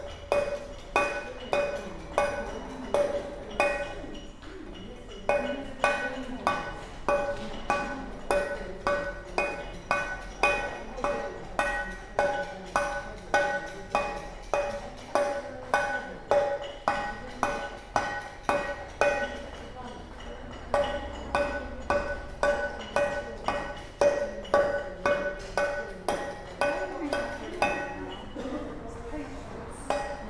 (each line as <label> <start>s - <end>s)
busy road 28.0s - 30.2s